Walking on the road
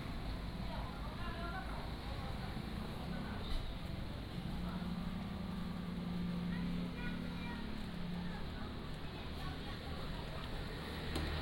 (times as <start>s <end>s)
3.5s 11.4s